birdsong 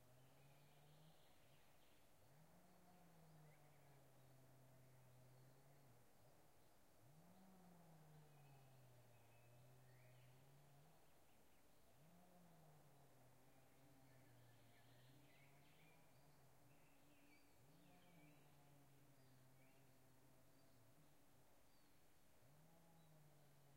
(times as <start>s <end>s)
8.1s 12.1s, 13.3s 22.1s